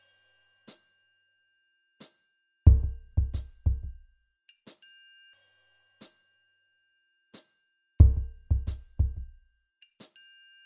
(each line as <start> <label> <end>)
2.7 drum 4.0
8.0 drum 9.4